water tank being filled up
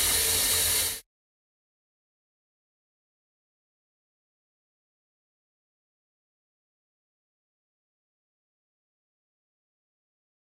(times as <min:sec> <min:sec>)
0:00.0 0:01.0